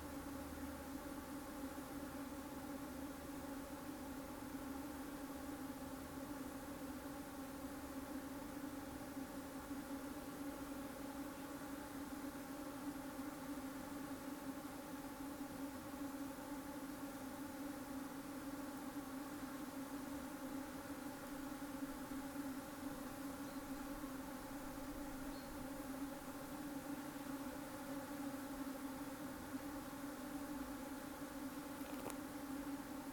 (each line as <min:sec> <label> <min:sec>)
0:00.0 bees hum in the forest 0:33.1
0:00.0 other insects 0:33.1